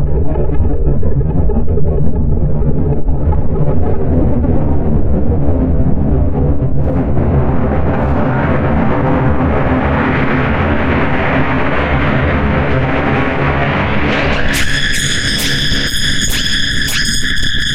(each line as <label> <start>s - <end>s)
glitch 6.9s - 17.7s